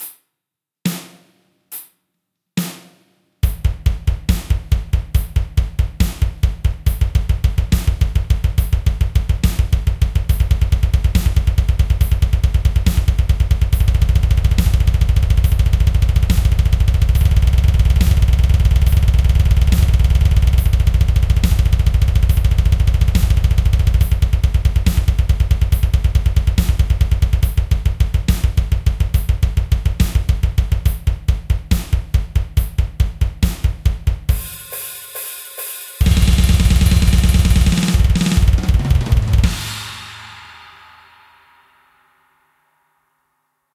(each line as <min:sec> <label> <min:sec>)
0:34.4 blastbeat 0:40.8